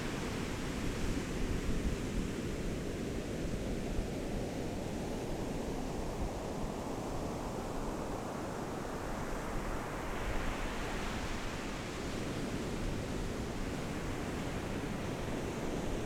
0.0s waves 16.0s

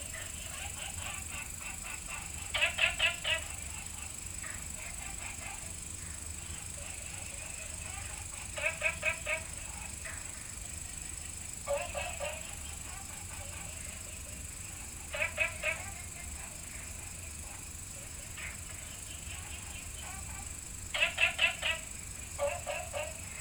0.0s Frog calls 23.4s

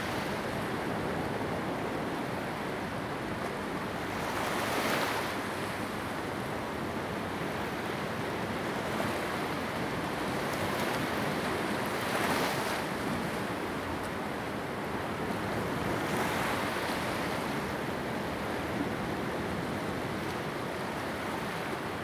3.3s waves 22.0s

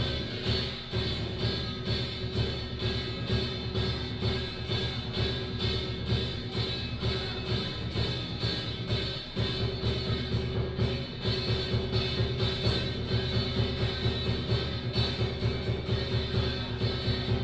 0.0s Traditional temple festival parade 17.4s

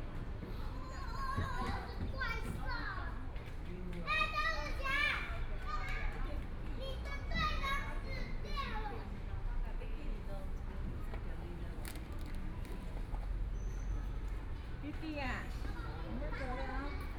0.0s Children in the play area 17.1s

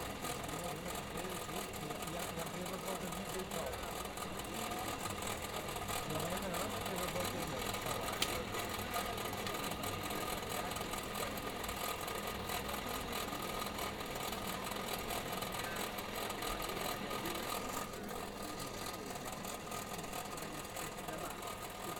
8.0s open fire 8.5s

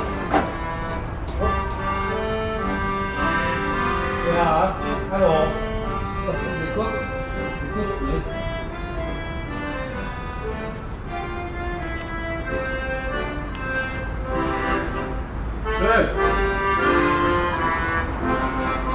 0.0s plays accordion 18.9s

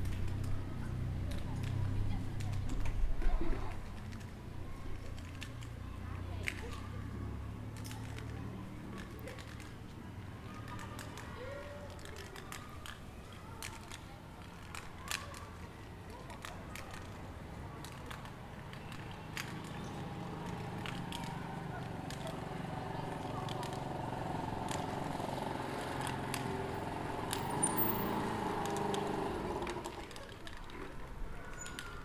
0.0s People chatting and passing by 32.0s

